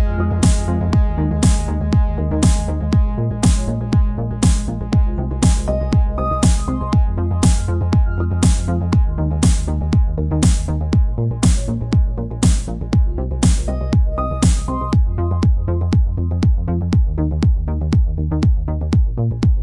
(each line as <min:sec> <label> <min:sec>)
0:00.0 synth 0:18.0